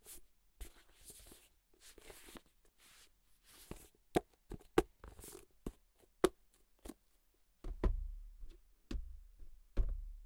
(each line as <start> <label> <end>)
0.0 hardcover book being handled 7.2